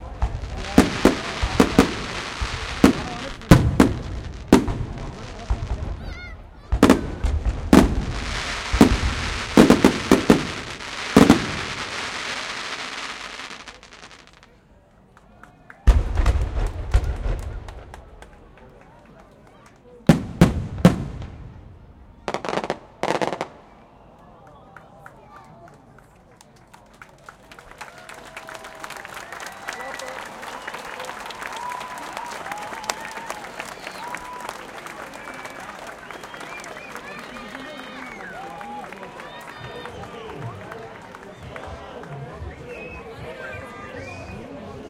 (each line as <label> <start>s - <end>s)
fireworks 0.0s - 14.6s
cheering 0.0s - 20.1s
people start applauding 14.4s - 16.0s
fireworks 15.9s - 19.0s
people start applauding 16.9s - 20.1s
fireworks 20.0s - 23.8s
cheering 22.1s - 44.8s
people start applauding 24.1s - 44.6s